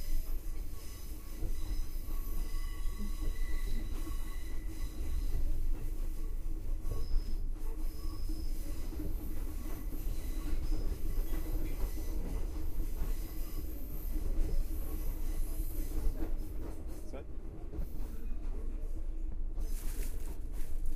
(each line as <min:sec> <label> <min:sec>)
0:00.0 night train 0:20.9